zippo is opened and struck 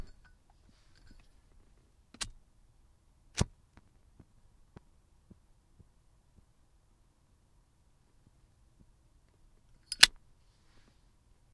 0:09.9 0:10.2

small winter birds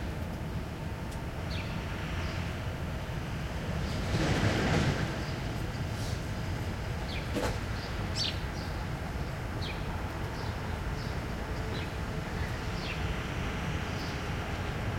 0:04.7 0:14.9

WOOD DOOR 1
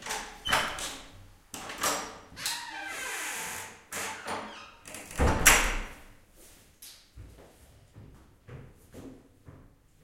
0:04.0 0:05.9

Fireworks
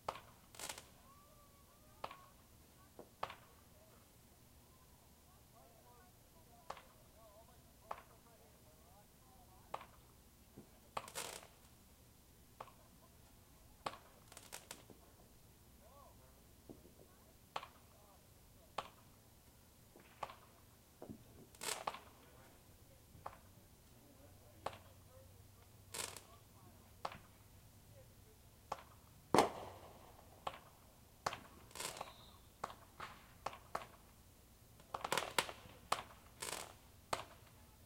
0:00.0 0:04.1, 0:06.0 0:07.2, 0:07.8 0:08.4, 0:09.4 0:11.8, 0:12.6 0:15.3, 0:15.9 0:19.2, 0:19.9 0:23.6, 0:24.5 0:25.2, 0:25.9 0:28.1, 0:28.7 0:34.2, 0:34.8 0:37.8

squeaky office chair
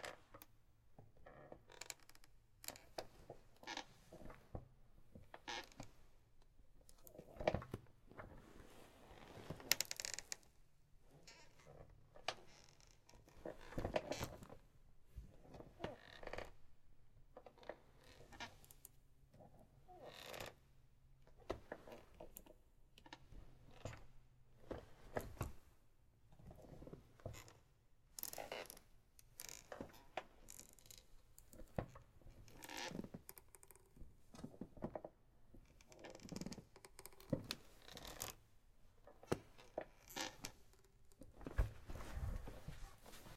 0:01.3 0:04.4, 0:05.4 0:06.0, 0:09.1 0:10.4, 0:11.1 0:14.4, 0:15.6 0:16.6, 0:17.5 0:18.8, 0:19.9 0:20.6, 0:28.2 0:28.8, 0:29.4 0:31.1, 0:32.4 0:33.8, 0:35.7 0:38.4, 0:39.6 0:40.9

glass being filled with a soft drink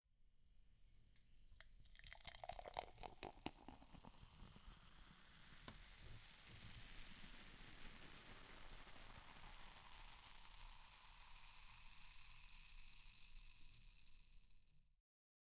0:01.6 0:07.9

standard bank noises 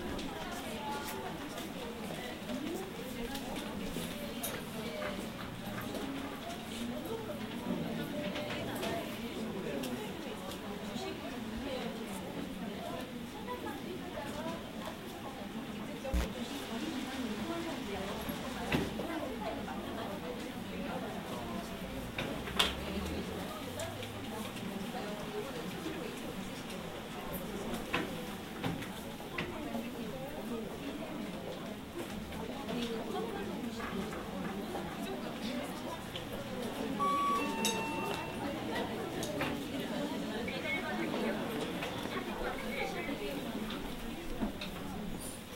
0:37.0 0:39.2

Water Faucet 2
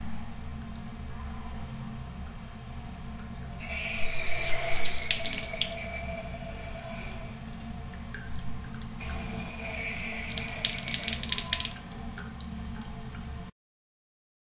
0:03.6 0:13.5

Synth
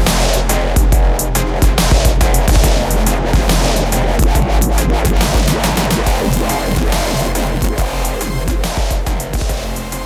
0:01.6 0:08.8

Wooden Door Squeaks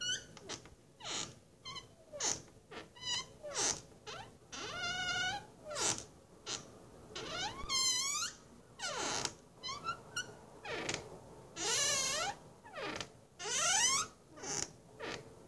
0:07.2 0:11.0

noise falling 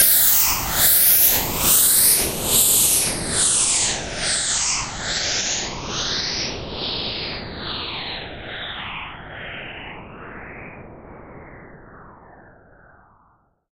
0:00.0 0:06.3

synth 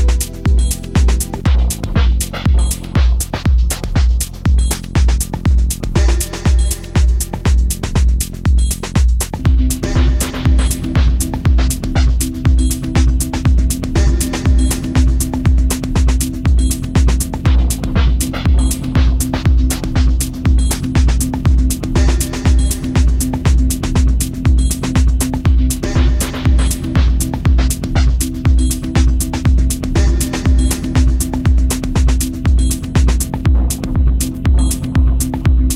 0:00.0 0:01.6

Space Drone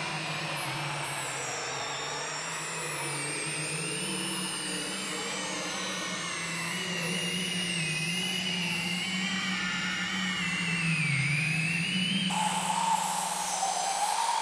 0:12.3 0:14.4

